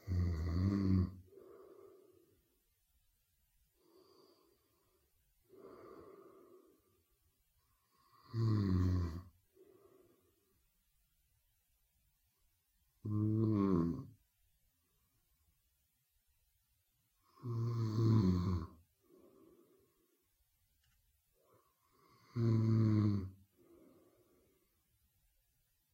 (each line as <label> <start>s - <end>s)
man-snoring 0.0s - 2.0s
woman snoring 0.0s - 2.1s
man-snoring 7.9s - 9.3s
woman snoring 7.9s - 9.6s
woman snoring 13.0s - 14.2s
man-snoring 13.0s - 14.1s
man-snoring 17.2s - 18.8s
woman snoring 17.2s - 18.8s
woman snoring 21.8s - 24.0s
man-snoring 22.0s - 23.8s